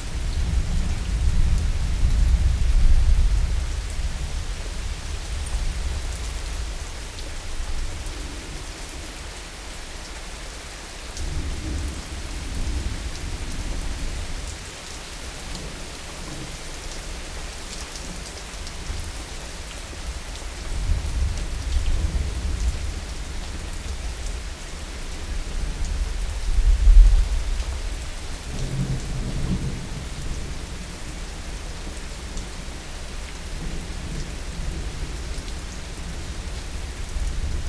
Summer Rain 0:00.0 - 0:37.6

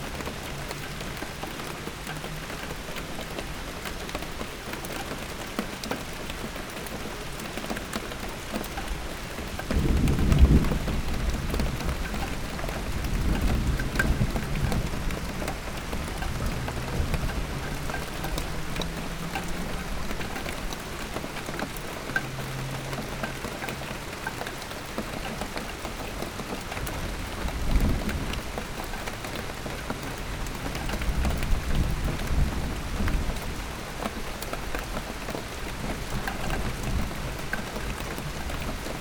Drops are falling on a old wheelbarrow 0:00.0 - 0:39.0
Rain 0:00.0 - 0:39.0

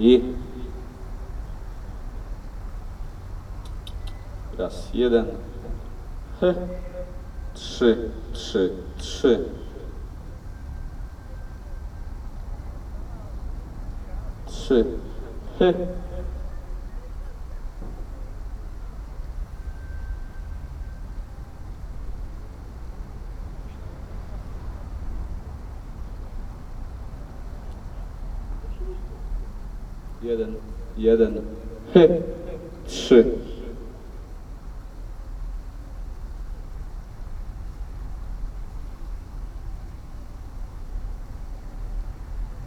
talking into the microphone 0:00.0 - 0:01.0
talking into the microphone 0:03.7 - 0:10.2
horn sound 0:04.1 - 0:10.5
talking into the microphone 0:14.0 - 0:16.5
horn sound 0:14.4 - 0:16.6
talking into the microphone 0:30.1 - 0:34.3
horn sound 0:30.2 - 0:34.4

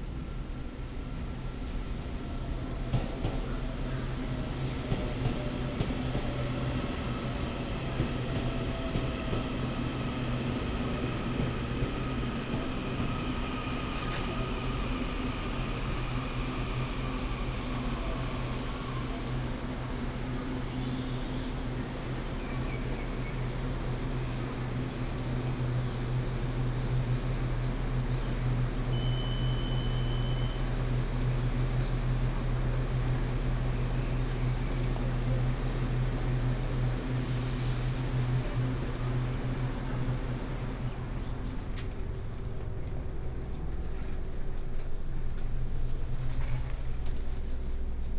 The train arrives 0:00.0 - 0:48.1

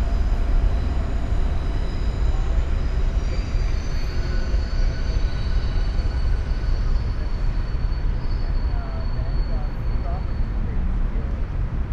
trains groan 0:00.0 - 0:11.9

